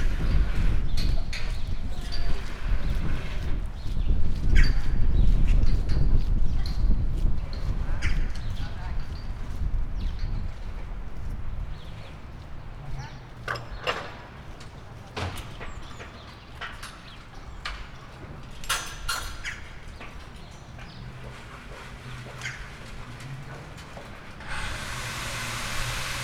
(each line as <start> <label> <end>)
13.4 lifting things 26.2
24.2 power cutting 26.2
24.4 drilling 26.2
24.4 hammering 26.2